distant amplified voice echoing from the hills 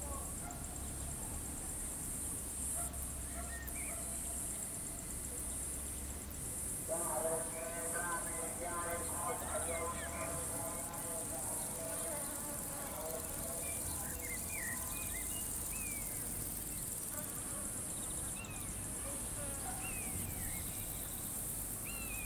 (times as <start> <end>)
6.9 15.3